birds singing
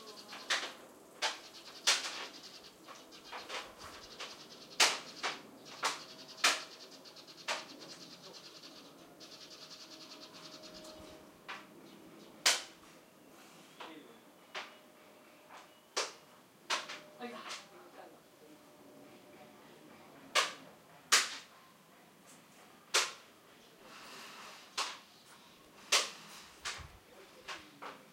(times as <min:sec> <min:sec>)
0:00.0 0:17.6